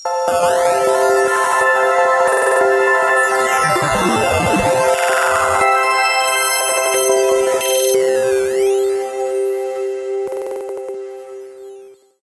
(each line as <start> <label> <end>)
3.5 glitch 5.8